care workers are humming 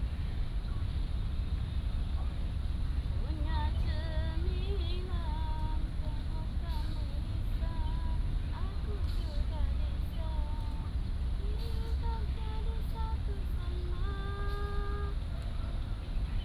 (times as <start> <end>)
3.3 15.8